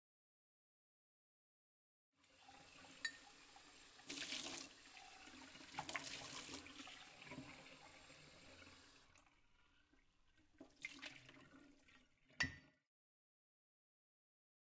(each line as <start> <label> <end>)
2.2 Washing the pub glasses by water 12.4